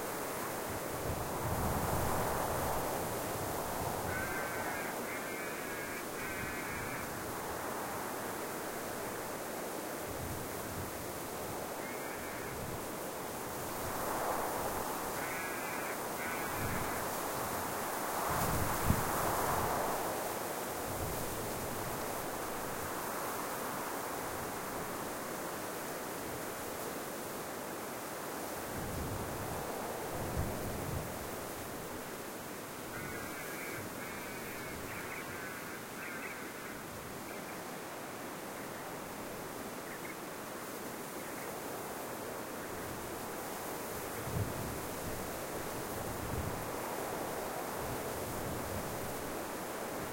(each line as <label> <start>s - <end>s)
Desert wind whispering through the spinifex 0.0s - 50.1s
crow 2.1s - 8.1s
crow 11.8s - 12.8s
crow 13.8s - 20.1s
crow 32.8s - 37.7s